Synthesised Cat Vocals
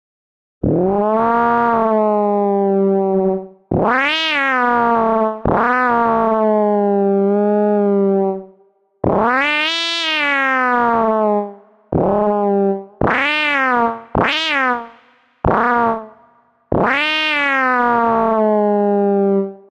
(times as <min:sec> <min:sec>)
0:00.6 0:06.7, 0:09.0 0:16.1, 0:16.7 0:18.4